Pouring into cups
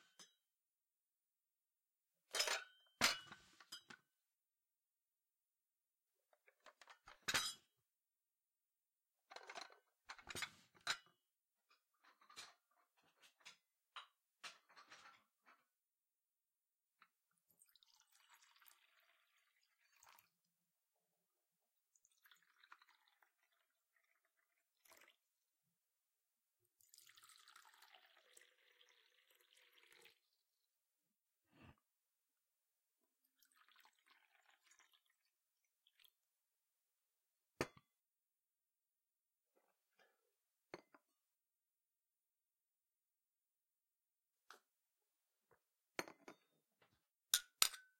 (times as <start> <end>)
17.5 20.4, 21.9 25.3, 26.7 30.4, 33.2 36.2